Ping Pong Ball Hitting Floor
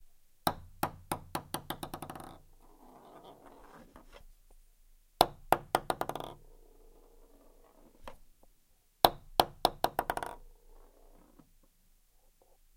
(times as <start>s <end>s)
0.5s 2.4s, 5.2s 6.6s, 9.1s 10.5s